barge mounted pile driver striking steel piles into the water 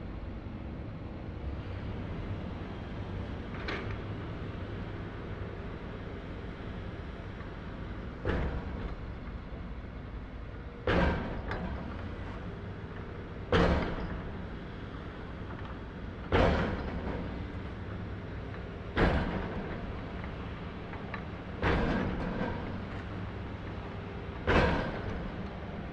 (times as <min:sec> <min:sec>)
0:06.5 0:25.9